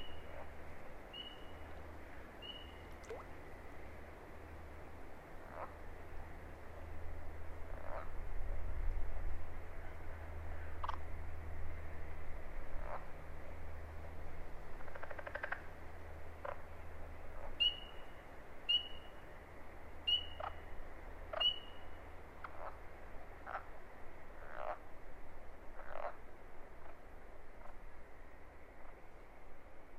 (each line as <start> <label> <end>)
0.0 Pine Barrens Tree Frogs 8.3
0.0 Southern Leopard Frogs 8.3
5.4 Carpenter Frogs 5.9
7.6 Carpenter Frogs 8.2
9.8 Pine Barrens Tree Frogs 29.2
9.9 Southern Leopard Frogs 12.0
10.8 Carpenter Frogs 11.1
12.6 Southern Leopard Frogs 29.1
12.8 Carpenter Frogs 13.3
14.7 Carpenter Frogs 19.2
20.0 Carpenter Frogs 24.9
25.7 Carpenter Frogs 27.8